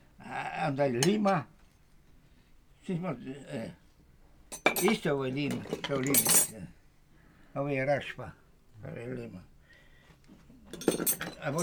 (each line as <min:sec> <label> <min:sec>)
0:00.9 demonstrating his tools 0:01.6